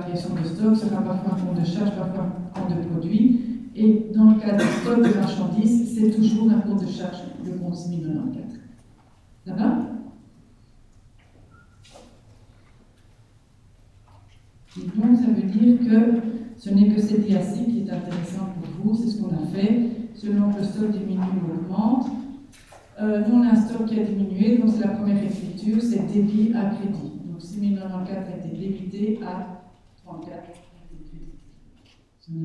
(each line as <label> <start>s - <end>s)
course of accounting 0.0s - 31.4s